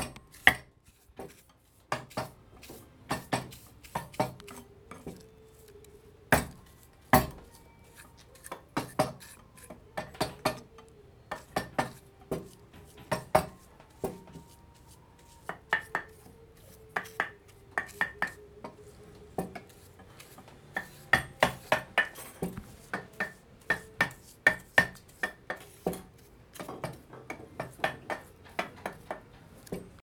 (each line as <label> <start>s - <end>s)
using the graver to sculpture the delicate wood 2.0s - 29.9s